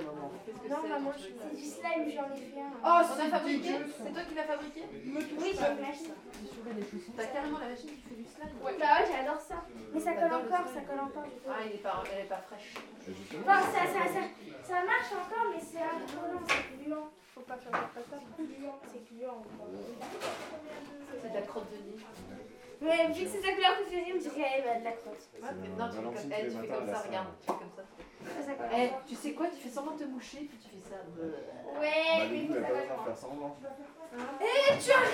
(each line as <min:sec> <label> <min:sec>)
0:34.2 Children playing 0:35.1